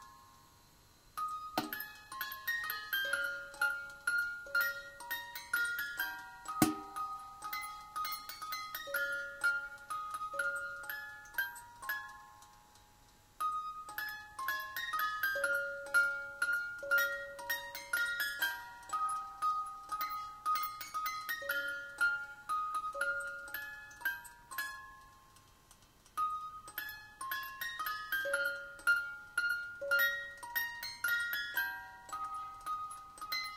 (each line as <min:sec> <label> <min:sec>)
0:00.0 music box 0:33.5